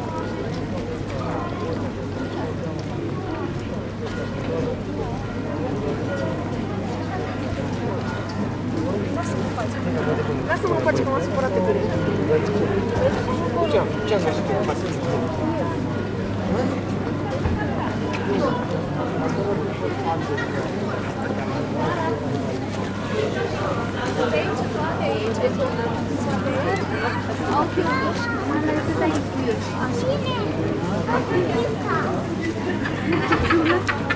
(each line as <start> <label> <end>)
0.0 crowded main street 34.1
0.0 church bell rings for the hour 17.5